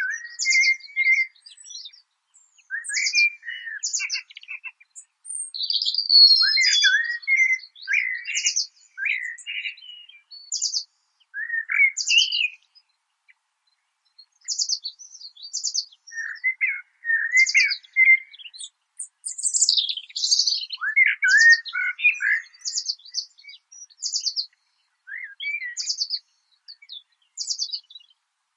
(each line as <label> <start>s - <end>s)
birds 0.0s - 28.5s